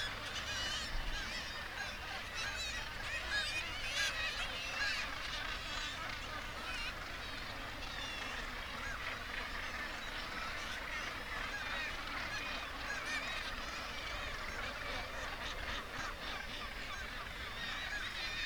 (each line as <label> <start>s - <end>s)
gannet calls and flight calls 0.0s - 18.4s